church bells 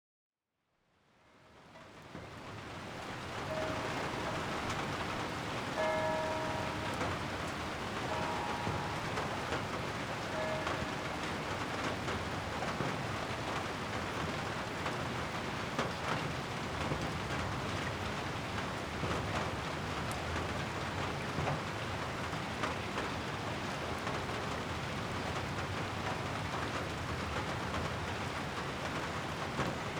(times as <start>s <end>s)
3.1s 16.2s